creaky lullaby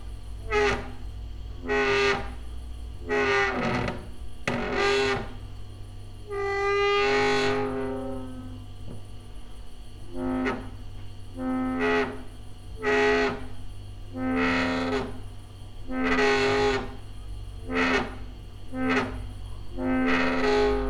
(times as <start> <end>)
3.1 5.4, 6.3 8.8, 10.1 10.8, 14.2 20.8